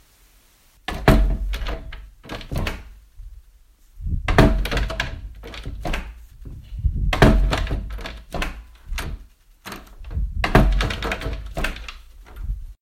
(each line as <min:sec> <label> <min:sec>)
0:00.8 door opening and closing several times 0:03.4
0:04.0 door opening and closing several times 0:12.8